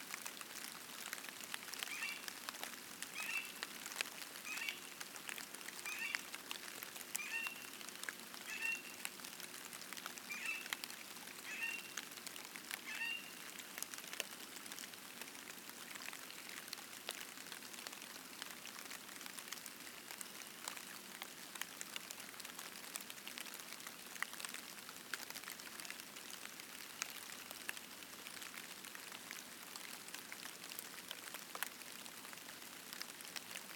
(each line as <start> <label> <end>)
0.0 Rain falling 33.7
1.9 Spring Peepers (frogs) 2.2
5.8 Spring Peepers (frogs) 6.3
7.2 Spring Peepers (frogs) 7.8
8.5 Spring Peepers (frogs) 9.0
10.3 Spring Peepers (frogs) 10.7